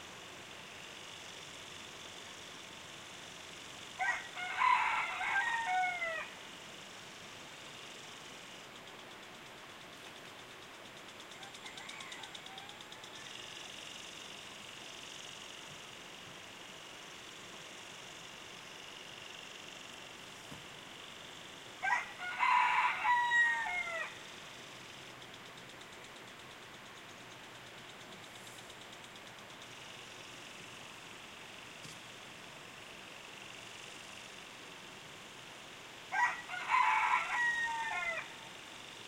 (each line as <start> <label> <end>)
0.0 home lawn sprinkler 39.0
4.0 Rooster crowings 6.4
11.3 Rooster crowings 13.8
21.8 Rooster crowings 24.3
36.1 Rooster crowings 38.5